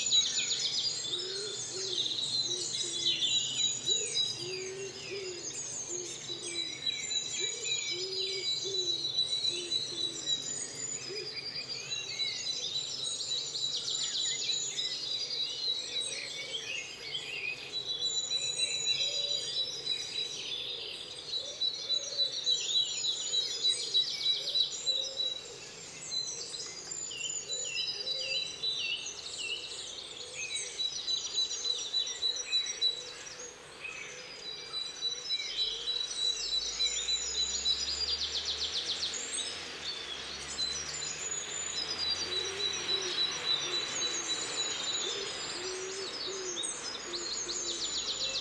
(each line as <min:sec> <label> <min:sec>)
0:34.2 dawn chorus 0:48.4